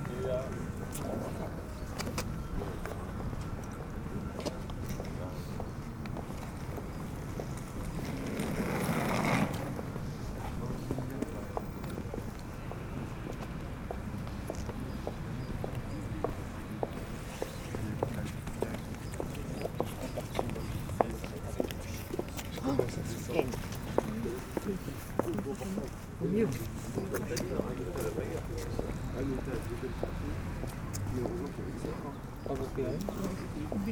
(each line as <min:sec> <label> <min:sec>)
0:00.0 People are discussing on the platform 0:33.9